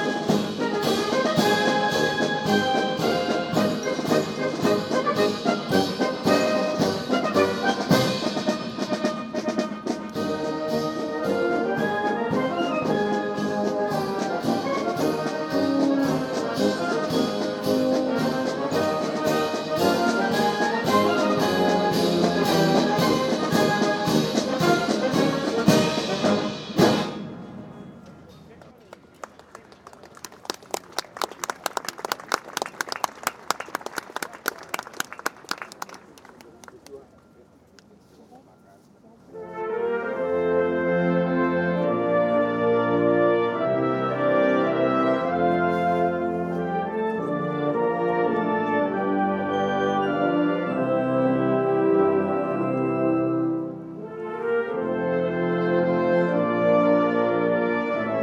0.0s marching band 36.5s
39.3s marching band 58.2s

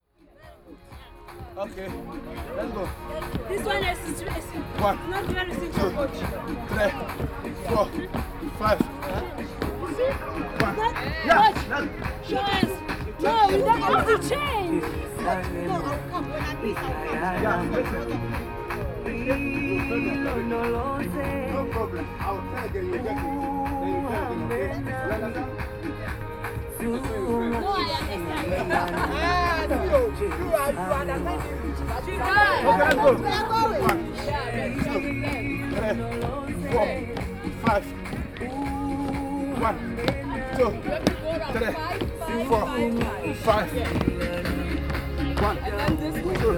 0.4s exercise of jumping on steps 18.2s
27.1s exercise of jumping on steps 46.5s

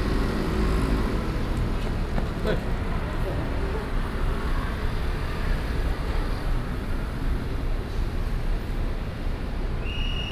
0.0s Traffic Sound 7.3s

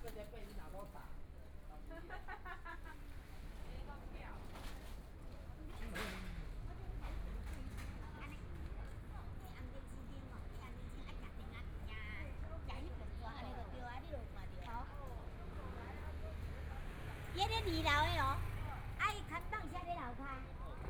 0.0s Walking in the small streets 20.8s

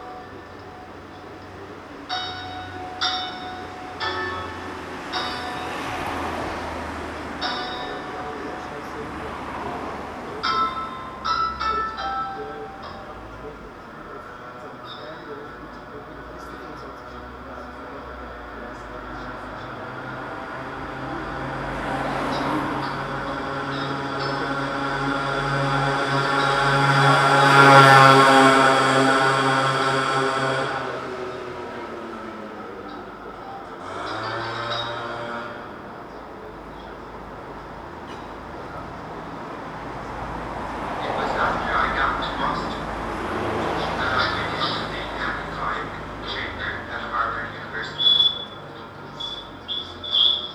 0.0s transistor radio on the pavement 50.5s

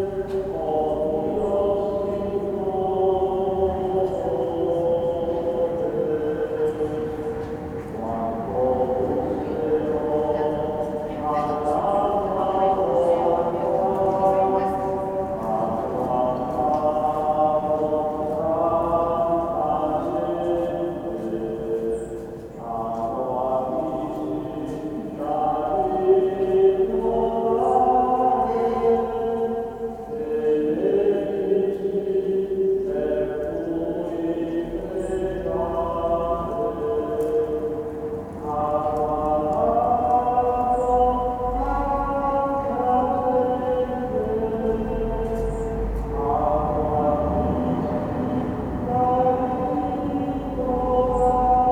0.0s Vesper choirs 51.7s
0.0s few people passing by 51.7s

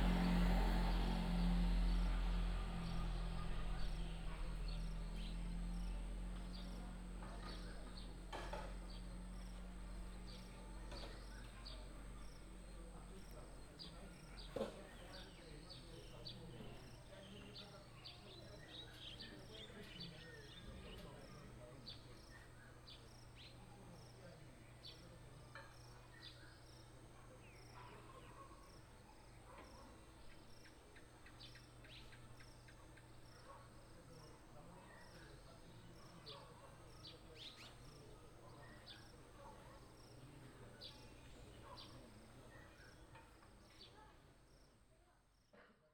0.0s traffic sound 17.7s
29.4s Dog barking 30.0s
36.2s Dog barking 36.9s

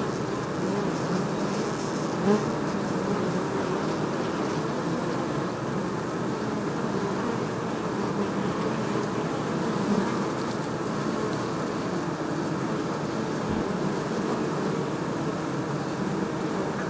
0.0s Beehives 16.8s

